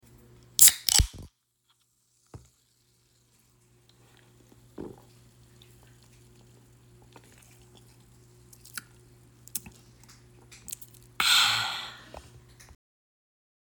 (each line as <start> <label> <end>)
0.6 crack open soda can 1.3
10.7 take a sip 12.3